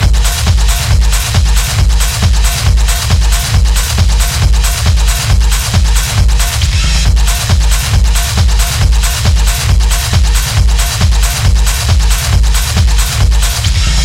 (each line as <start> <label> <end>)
0.0 beat 14.0